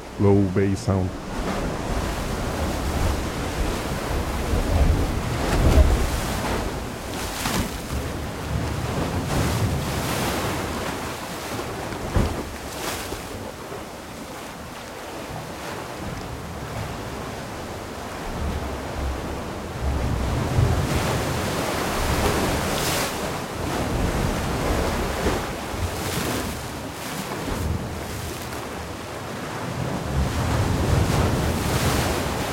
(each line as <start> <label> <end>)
0.0 water coming from the waves 32.5